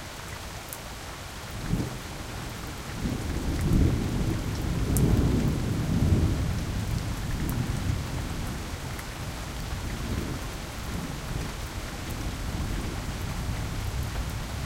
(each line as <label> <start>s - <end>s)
rain hitting the pavement 0.0s - 14.6s